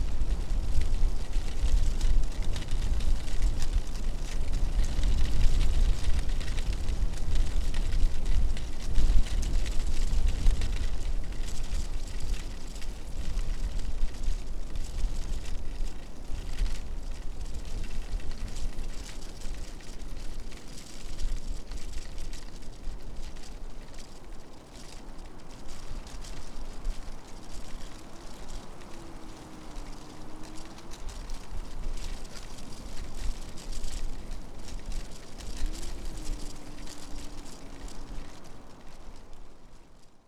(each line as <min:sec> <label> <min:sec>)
0:00.0 dried leaves in a strong wind 0:40.2